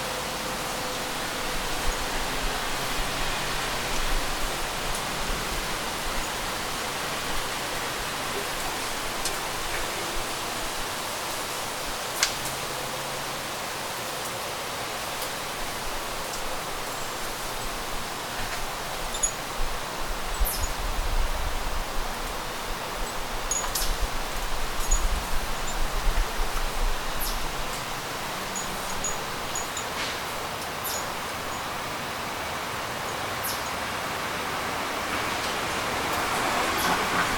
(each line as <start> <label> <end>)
0.0 leaves being blown about 37.3
0.0 vehicles driving through/past the neighborhood 37.3
23.0 wind chimes 31.7